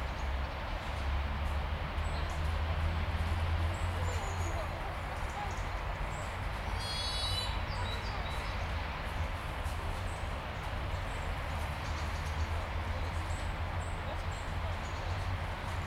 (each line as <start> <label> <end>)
0.0 noises street 15.8
1.8 Voices 15.8
3.6 birds 15.8